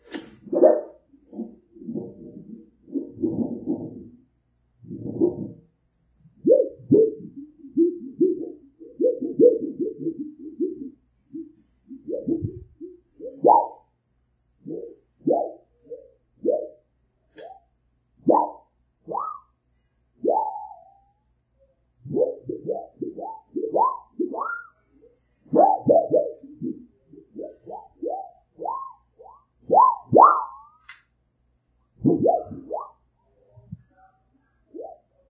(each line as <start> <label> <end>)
0.0 Flexing a Piece of Resonating Copper Sheet Metal 4.2